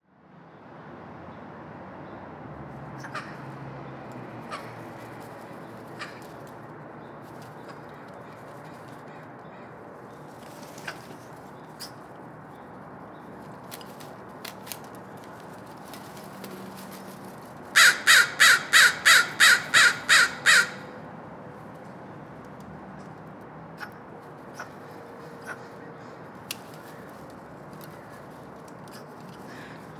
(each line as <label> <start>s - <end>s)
traffic 0.0s - 29.9s
caw 3.0s - 3.5s
caw 5.9s - 6.4s
caw 17.8s - 21.0s
caw 29.5s - 29.9s